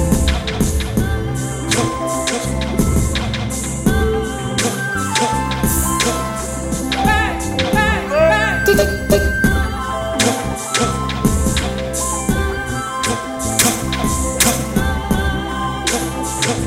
Roland V-drums 0.0 - 8.1
chant 0.0 - 16.6
microKorg 0.0 - 16.6
Roland V-drums 8.7 - 16.6

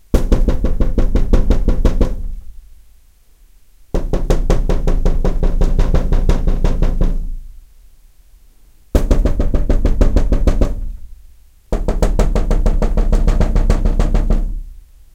Knuckles rapping on glass windowpane 0.1 - 2.5
Knuckles rapping on glass windowpane 4.0 - 7.4
Knuckles rapping on glass windowpane 9.0 - 11.1
Knuckles rapping on glass windowpane 11.7 - 14.7

